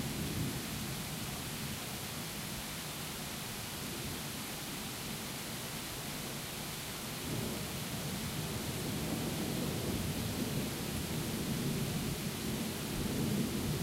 Heavy Rain 0.0 - 13.8

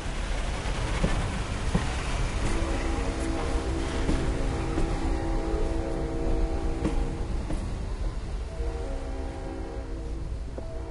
diesel locomotive 0.0 - 10.9
train whistle 2.4 - 10.9

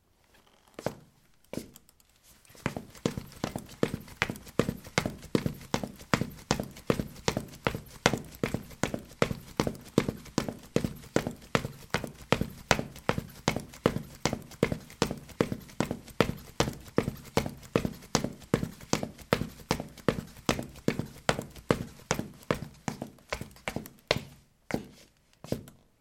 Running on ceramic tiles 2.6 - 24.2

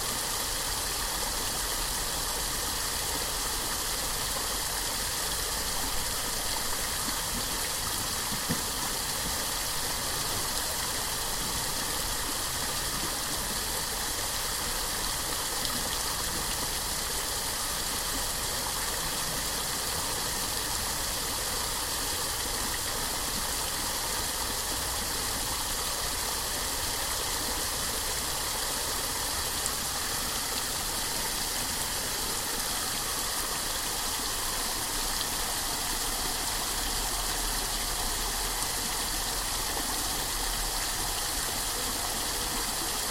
Cascading Water 0.0 - 43.1

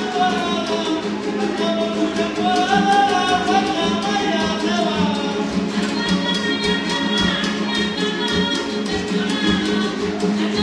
4 string guitar they call Requinto 0.0 - 10.6
small guitars 0.0 - 10.6

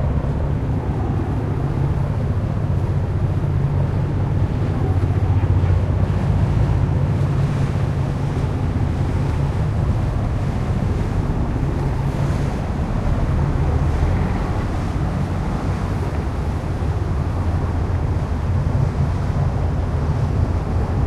boat 0.0 - 21.0
water 0.0 - 21.0

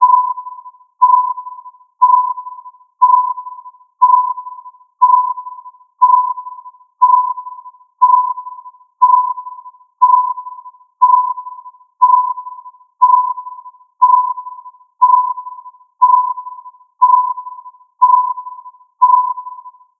Radar 0.0 - 19.9

